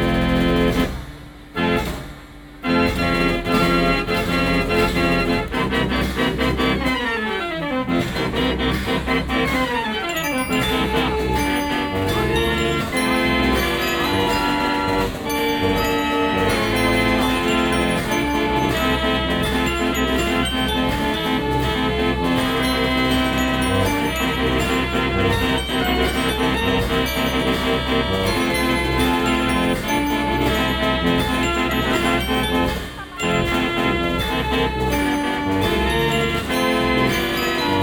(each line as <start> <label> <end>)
0.0 mechanical music machine 37.8